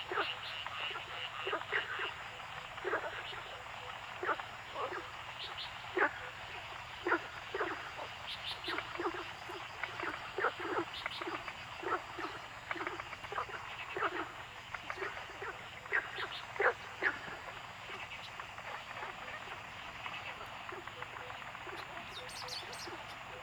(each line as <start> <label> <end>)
0.0 Frog sounds 23.4
7.6 Bird sounds 23.4